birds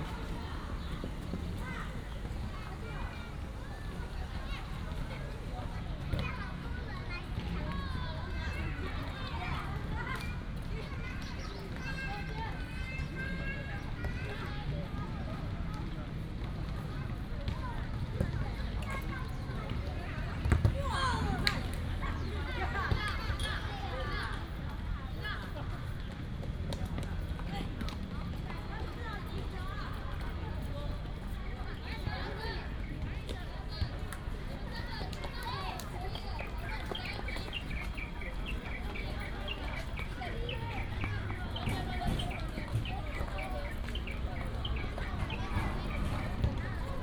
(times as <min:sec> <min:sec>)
0:35.7 0:47.0